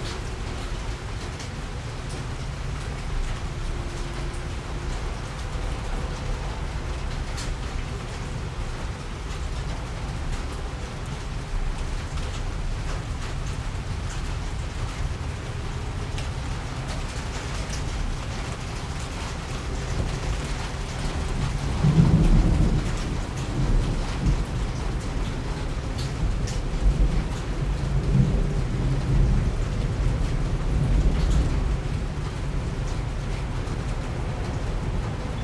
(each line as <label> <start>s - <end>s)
Thunderstorm 0.0s - 35.4s